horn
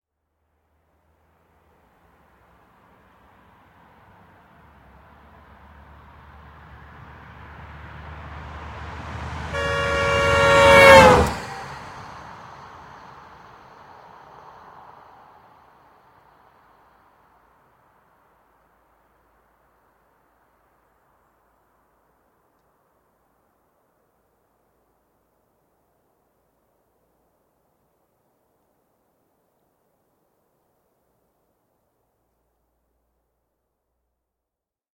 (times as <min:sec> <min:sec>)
0:09.5 0:12.0